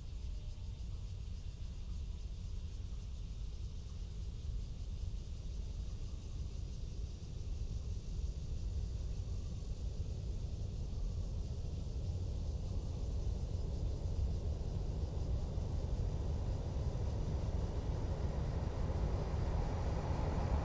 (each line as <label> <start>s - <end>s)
Cicadas sound 0.1s - 20.6s
The train passes through 12.6s - 20.6s